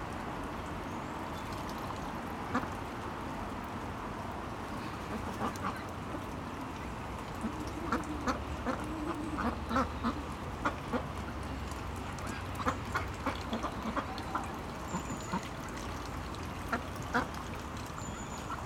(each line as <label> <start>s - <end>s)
Ducks 5.0s - 5.9s
Ducks 7.4s - 11.5s
Ducks 12.2s - 18.6s